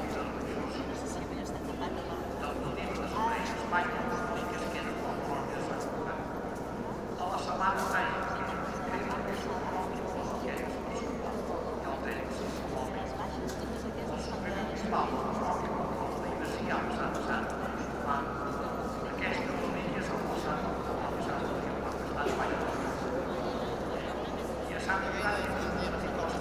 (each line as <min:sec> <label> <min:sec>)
0:00.0 man explaining the meaning and history with a microphone 0:01.4
0:00.0 Tourists all over the space 0:26.4
0:02.2 man explaining the meaning and history with a microphone 0:23.2
0:24.6 man explaining the meaning and history with a microphone 0:26.4